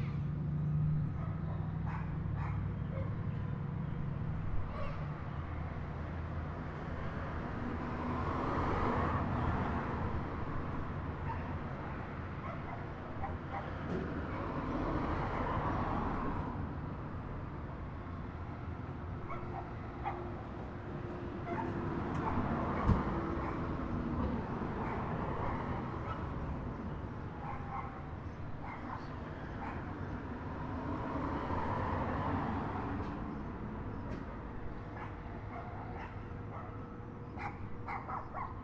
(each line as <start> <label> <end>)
1.1 dogs 3.4
11.2 dogs 11.6
12.4 dogs 14.6
19.2 dogs 20.4
21.4 dogs 23.7
24.8 dogs 26.4
27.4 dogs 30.0
34.9 dogs 38.6